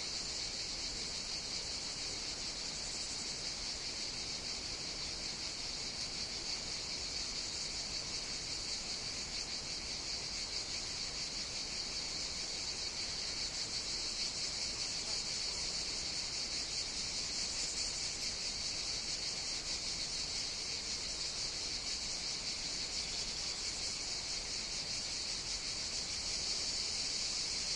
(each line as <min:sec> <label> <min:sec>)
0:00.0 Cicadas 0:27.7